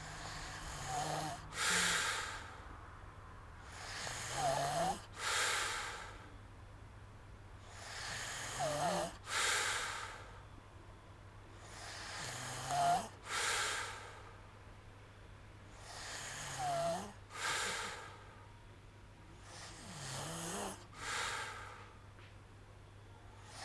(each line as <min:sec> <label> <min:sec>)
0:00.0 snoring sound 0:02.5
0:03.6 snoring sound 0:06.0
0:07.6 snoring sound 0:10.0
0:11.6 snoring sound 0:14.0
0:15.7 snoring sound 0:18.1
0:19.4 snoring sound 0:21.6
0:23.4 snoring sound 0:23.6